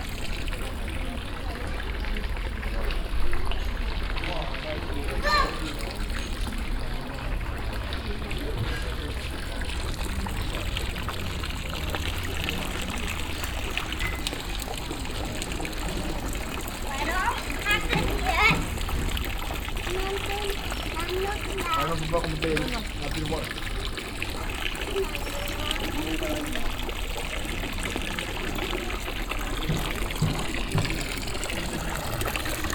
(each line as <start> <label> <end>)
0.0 fountain 32.7